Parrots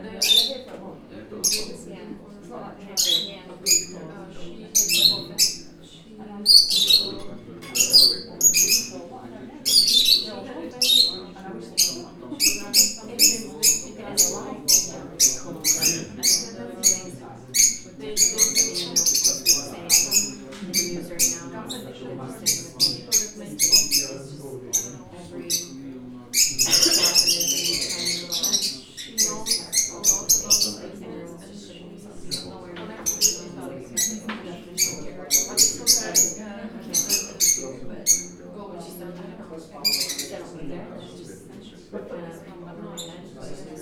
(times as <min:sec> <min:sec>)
0:00.2 0:00.7, 0:01.4 0:01.8, 0:03.0 0:04.0, 0:04.7 0:05.9, 0:06.5 0:09.0, 0:09.6 0:30.9, 0:32.3 0:38.4, 0:39.8 0:40.5